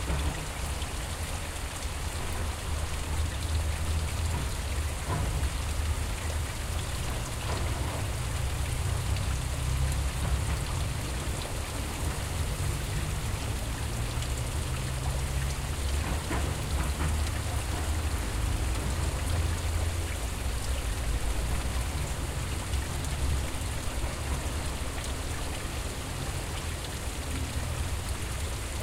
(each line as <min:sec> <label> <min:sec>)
0:00.0 Waterfall from wastewater pipe 0:28.8